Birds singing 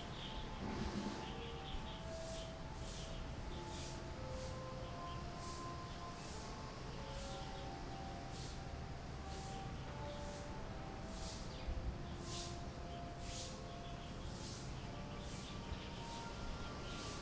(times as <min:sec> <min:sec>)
0:00.0 0:04.0